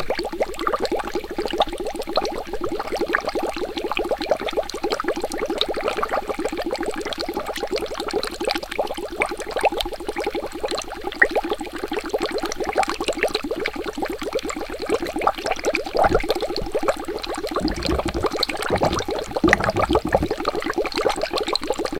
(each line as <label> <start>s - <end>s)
Bubbles being blown through a straw into a glass of water 15.9s - 20.8s